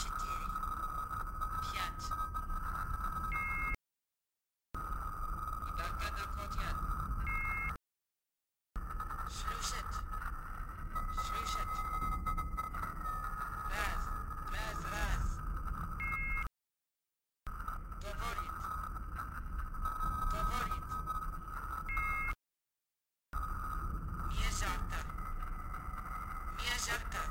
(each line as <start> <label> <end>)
4.8 background sounds 7.8
8.8 background sounds 16.5
17.5 background sounds 22.4
23.4 background sounds 27.3